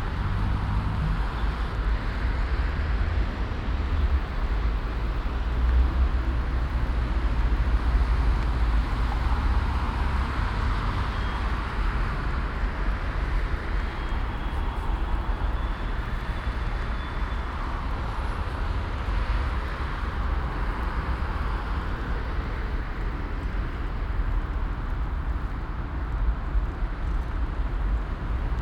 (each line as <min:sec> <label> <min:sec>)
0:00.0 pedestrians and cyclists 0:28.6
0:00.0 traffic noise 0:28.6